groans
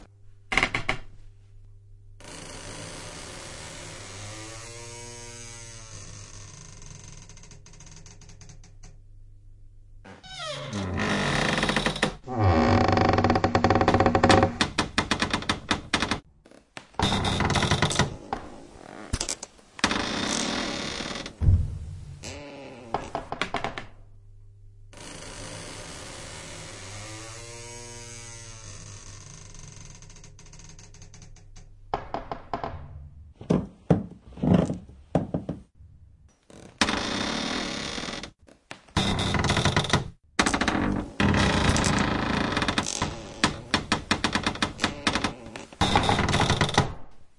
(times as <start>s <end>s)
44.6s 45.9s